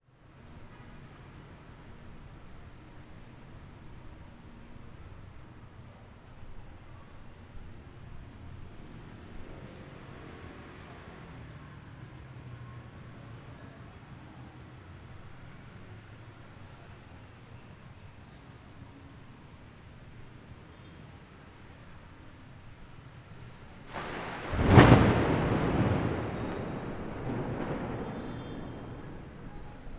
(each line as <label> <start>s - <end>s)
rain 0.1s - 29.9s
traffic in the wide wet street 0.1s - 29.9s
very loud thunderclap 23.9s - 29.9s